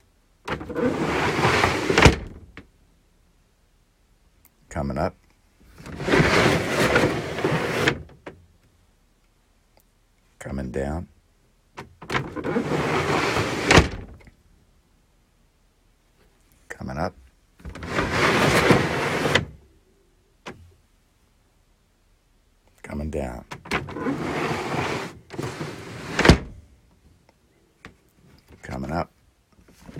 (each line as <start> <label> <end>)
0.4 rolltop desk being opened and closed 2.7
5.7 rolltop desk being opened and closed 8.4
11.8 rolltop desk being opened and closed 14.3
17.6 rolltop desk being opened and closed 19.6
23.5 rolltop desk being opened and closed 26.7
29.7 rolltop desk being opened and closed 29.9